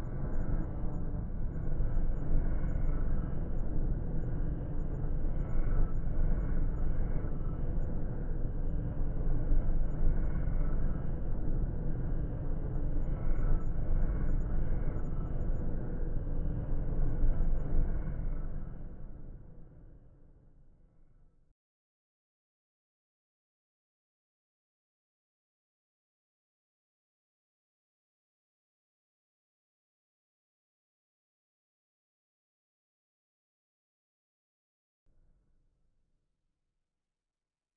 drone 0.0 - 20.4

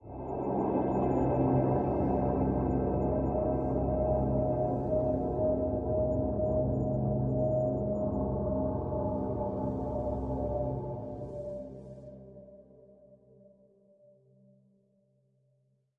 drone 0.0 - 12.1

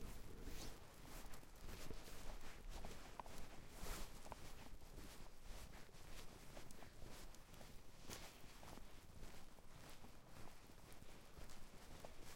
Footsteps 0.0 - 12.3

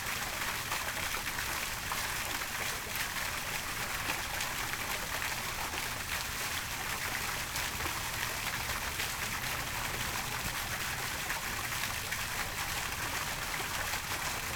water fountain 0.0 - 14.5

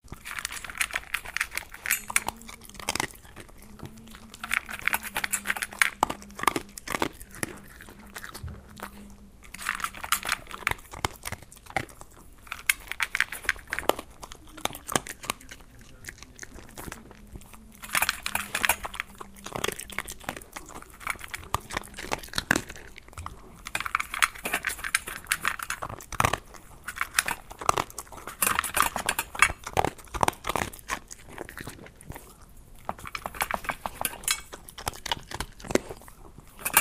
eating and drinking dog 0.0 - 36.8

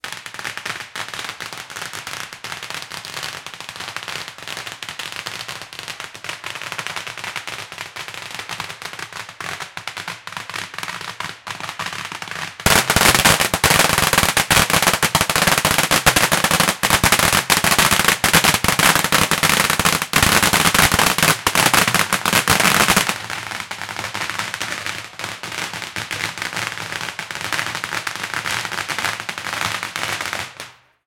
Firecrack from distance to close perspective 0.0 - 31.0

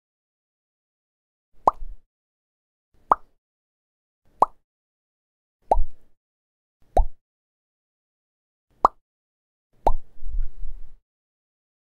blip-plock-pop 1.6 - 1.9
blip-plock-pop 3.1 - 3.4
blip-plock-pop 4.4 - 4.6
blip-plock-pop 5.7 - 6.0
blip-plock-pop 6.9 - 7.2
blip-plock-pop 8.8 - 9.0
blip-plock-pop 9.8 - 10.1

